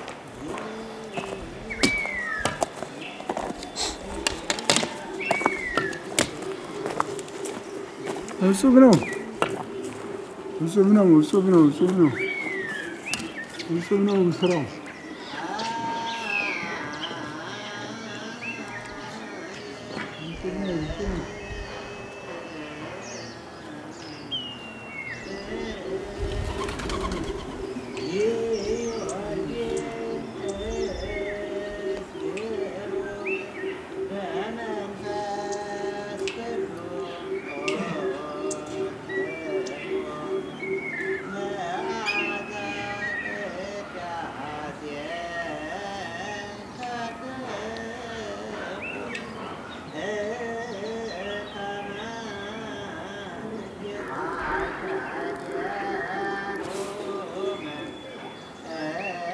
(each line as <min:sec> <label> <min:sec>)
0:00.0 Lone man singing 0:59.3